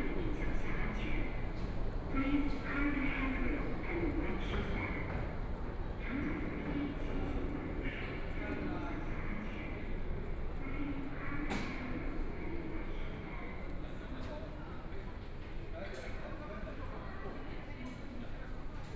walking in the Station 0.0 - 18.9

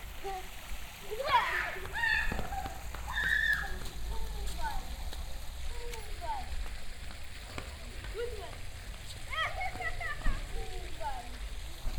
water fountain 0.0 - 11.9
children running around, screaming in local tongue 1.1 - 4.9
children running around, screaming in local tongue 9.1 - 11.4

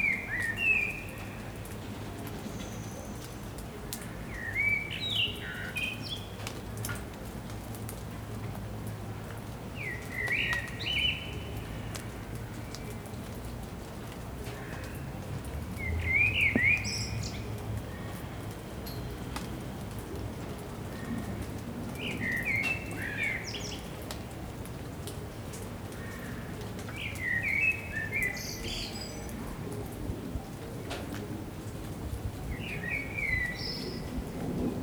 Sparse rain 0.0 - 34.8

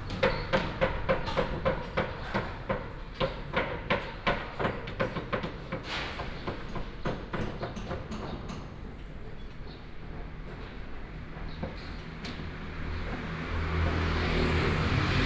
Traffic sound 0.0 - 4.6
Construction site construction sound 0.0 - 15.2
Traffic sound 10.0 - 15.2

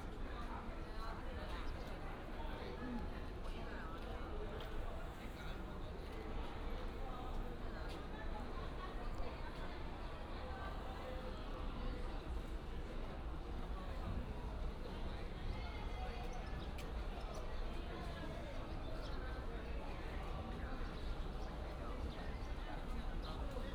Crowded crowd 0.0 - 23.7

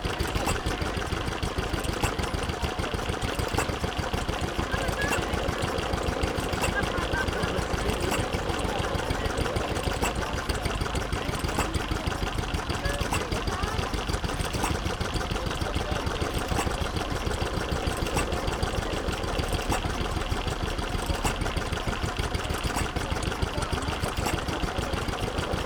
Static engine 0.0 - 25.6

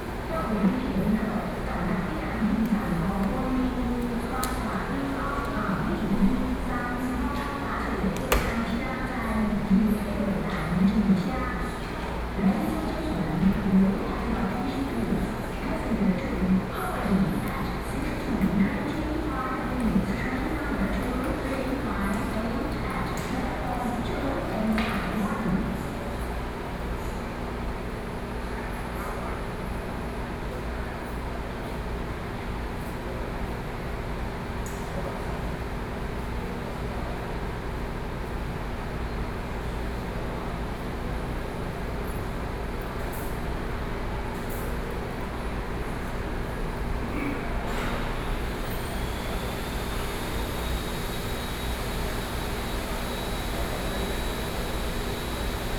very loud air conditioning 0.0 - 55.7
Construction noise 47.5 - 55.7

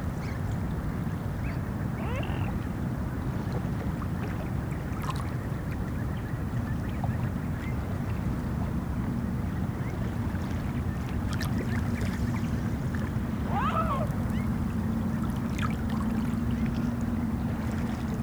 noise from harbour 0.0 - 18.2
Swans 1.4 - 2.7
Swans 9.8 - 18.2

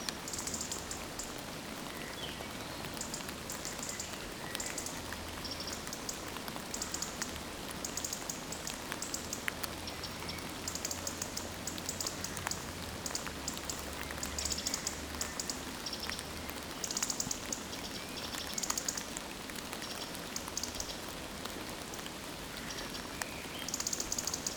constant quiet rain 0.0 - 24.5

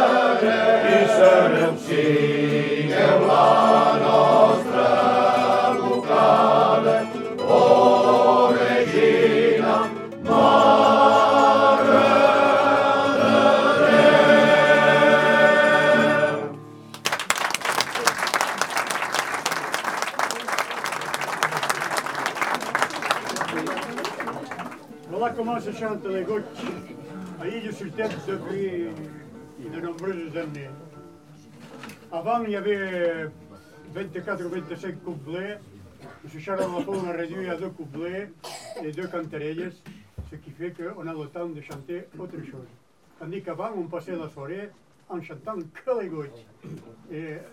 hymns sung by male choirs 0.0 - 16.6

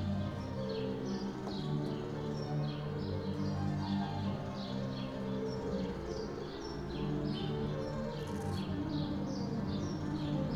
music from an open window 0.0 - 10.5

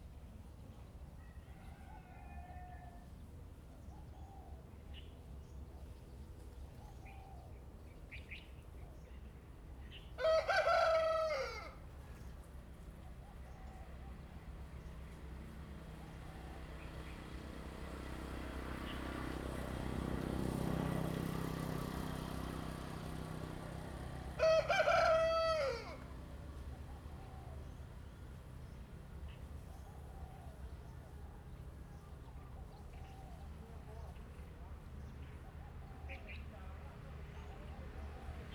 Crowing 24.4 - 26.1

